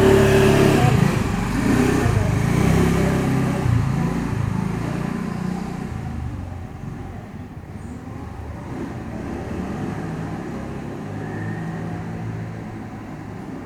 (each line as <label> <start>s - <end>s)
few people passing by 0.0s - 13.6s